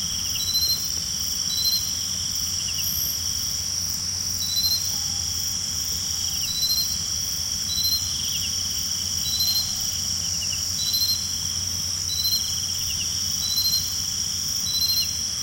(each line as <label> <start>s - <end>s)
Cicades 0.0s - 15.4s